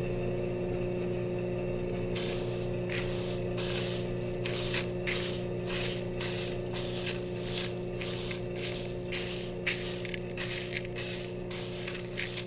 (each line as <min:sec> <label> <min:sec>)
0:02.0 fuji royal coffee roaster 0:12.4